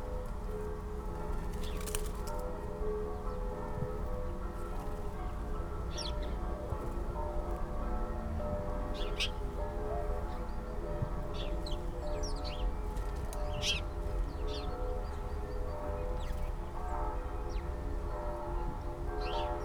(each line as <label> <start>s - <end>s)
churchbells 0.0s - 19.6s
fluttering sparrows in a rose hip bush 1.3s - 2.5s
fluttering sparrows in a rose hip bush 5.9s - 6.4s
fluttering sparrows in a rose hip bush 8.9s - 9.5s
fluttering sparrows in a rose hip bush 11.2s - 16.6s
fluttering sparrows in a rose hip bush 19.2s - 19.6s